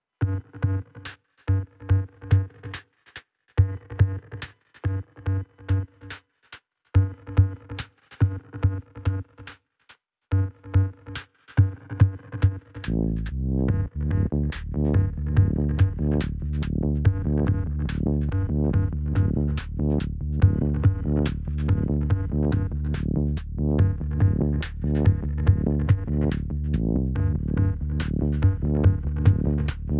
synthbass 12.9 - 29.9

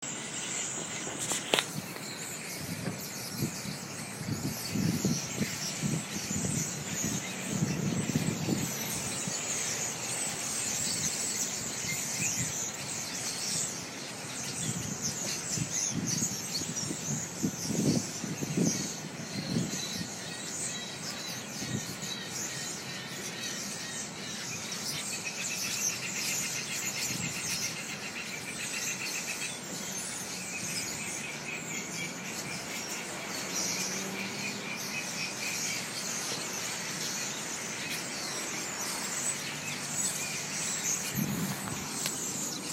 Thousands of noisy birds 0.0 - 42.7
wind 0.0 - 42.7
traffic 29.6 - 42.7

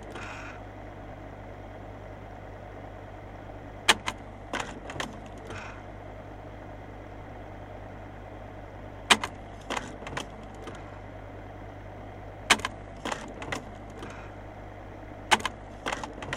slide projector 0.0 - 1.3
slide projector 2.0 - 16.3

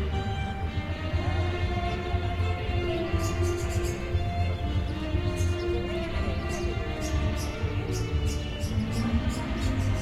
Gipsy street band 0.0 - 10.0
Traffic 0.0 - 10.0
birds 0.0 - 10.0

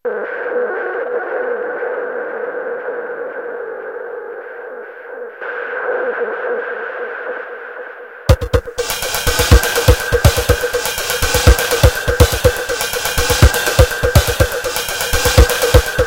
drums 8.3 - 16.0

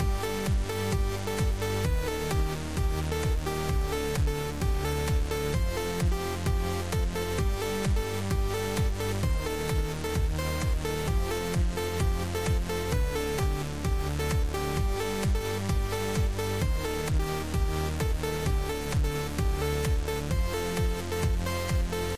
Melody 0.0 - 22.1

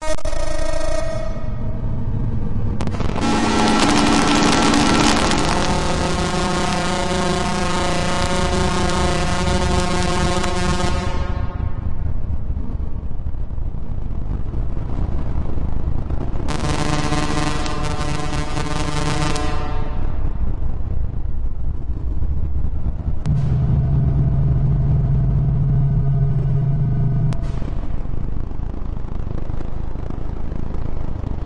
UFO flying away 23.3 - 28.4

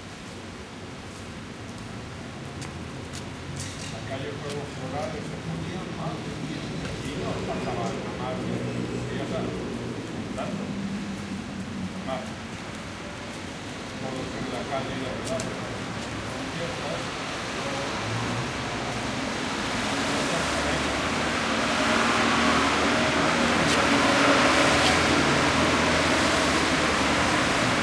rain falling down through the big streets 0.0 - 27.8
people wait the rain to stop, while they talk 1.1 - 27.8
cars passing 3.3 - 27.8

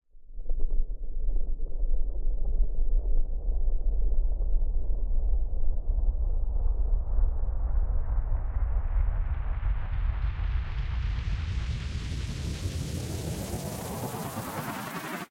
Long Panned Riser 11.4 - 15.3

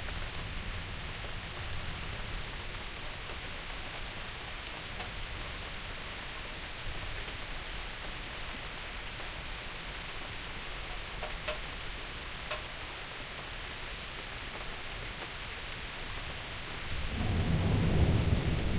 Rain 0.0 - 18.7
Thunder 17.0 - 18.7

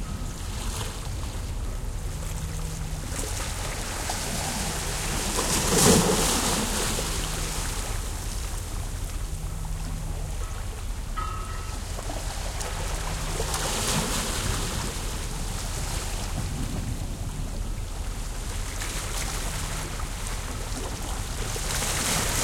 Light waves 0.0 - 22.4
kind of humming from a bouy 0.0 - 22.4
bell 10.3 - 12.4

